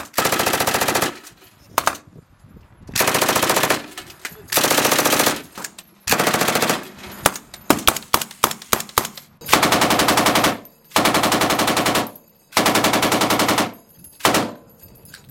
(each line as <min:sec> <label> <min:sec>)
0:00.0 machine guns 0:02.0
0:00.0 rifles 0:02.0
0:03.0 machine guns 0:05.5
0:03.0 rifles 0:14.7
0:06.1 machine guns 0:06.9
0:08.8 machine guns 0:14.6